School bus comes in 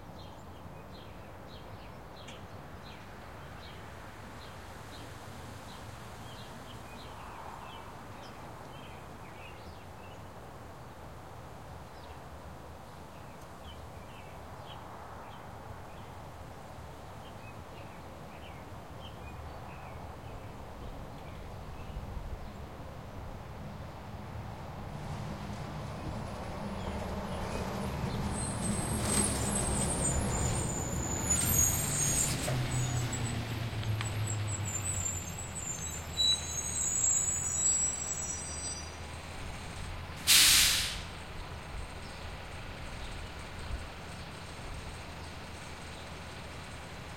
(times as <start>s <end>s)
12.1s 47.1s